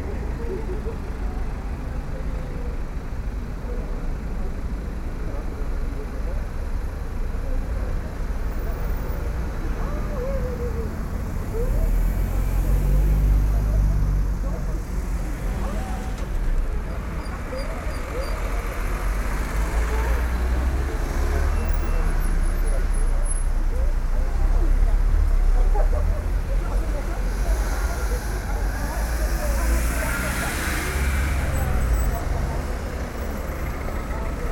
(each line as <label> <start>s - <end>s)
people talking 0.0s - 34.5s